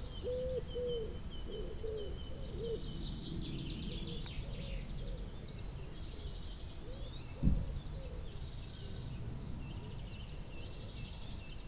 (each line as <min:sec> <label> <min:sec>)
0:00.0 early morning birds 0:11.6